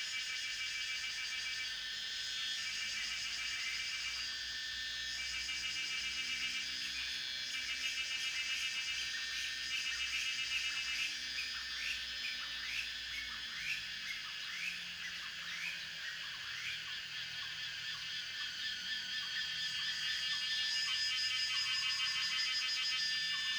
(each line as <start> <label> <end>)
0.0 Cicada sounds 23.5
10.8 Frogs chirping 23.5